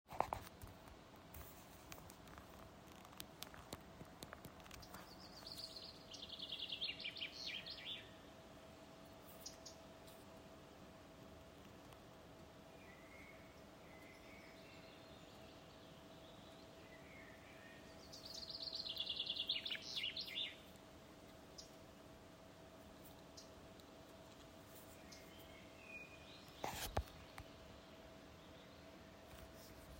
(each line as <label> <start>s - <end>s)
wind 0.0s - 29.9s
forest birds 1.3s - 29.9s